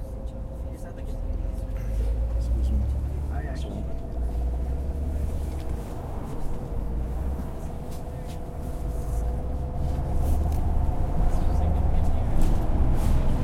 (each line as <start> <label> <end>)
0.0 Bus inside 13.4